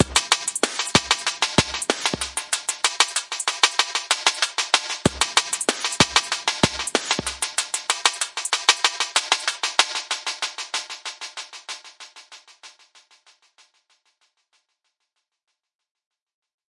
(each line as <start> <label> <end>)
0.0 Drum n Bass Beat 12.6